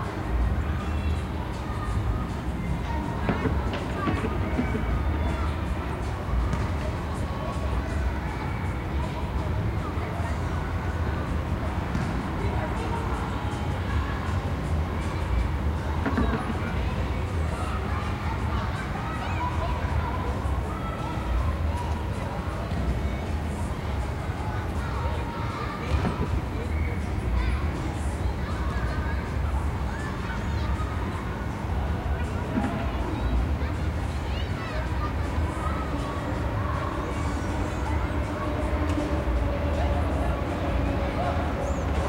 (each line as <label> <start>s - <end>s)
children playing 0.0s - 42.0s